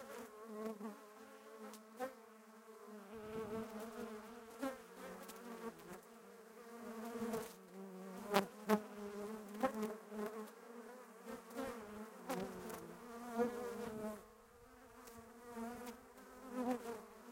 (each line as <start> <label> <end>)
0.0 bees 17.3